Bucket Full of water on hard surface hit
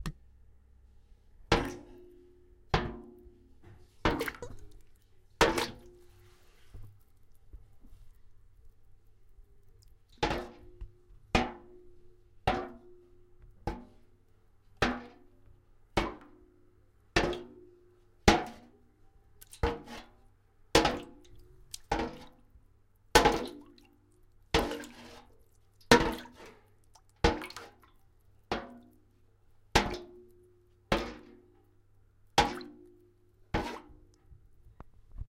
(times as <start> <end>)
1.5 6.1, 10.1 14.1, 14.8 18.7, 19.4 20.2, 20.8 22.5, 23.1 23.9, 24.5 27.9, 28.5 29.1, 29.7 31.7, 32.3 34.3